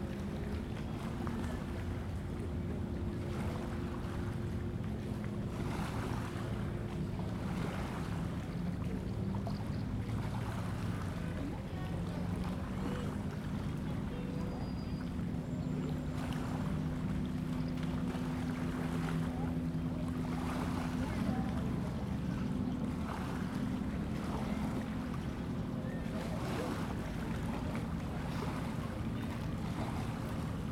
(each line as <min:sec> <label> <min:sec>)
0:00.0 the lake 0:30.7